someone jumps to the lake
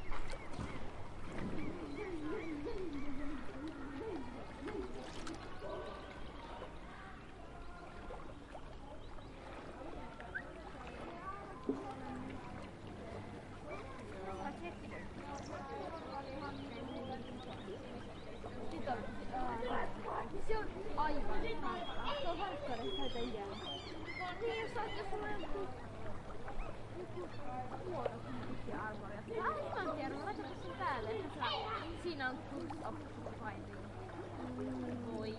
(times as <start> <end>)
0.2 1.9